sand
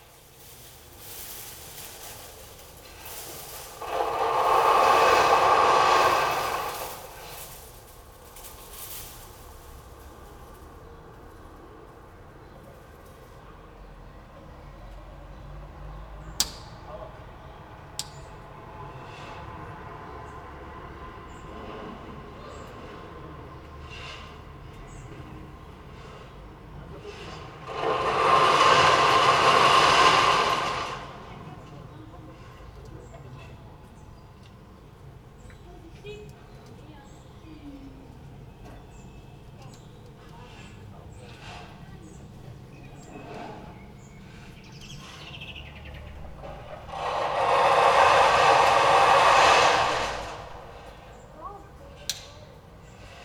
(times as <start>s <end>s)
0.0s 11.7s, 26.2s 31.7s, 45.9s 51.5s